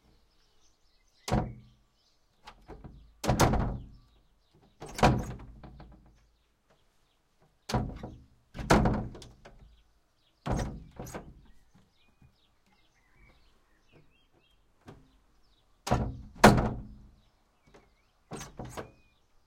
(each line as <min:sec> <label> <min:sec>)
0:02.4 wood shutter inner door with antique handle lock 0:06.2
0:07.7 wood shutter inner door with antique handle lock 0:09.8
0:10.4 wood shutter inner door with antique handle lock 0:11.6
0:15.8 wood shutter inner door with antique handle lock 0:17.1
0:18.3 wood shutter inner door with antique handle lock 0:19.1